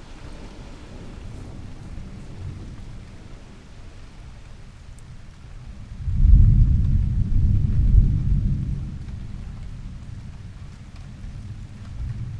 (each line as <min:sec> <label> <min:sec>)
0:00.0 rain 0:12.3
0:05.8 Thunder 0:12.3